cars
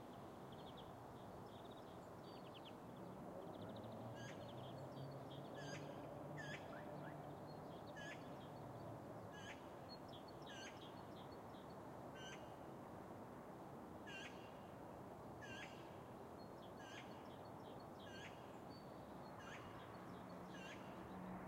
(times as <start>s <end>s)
3.0s 8.2s, 19.4s 21.4s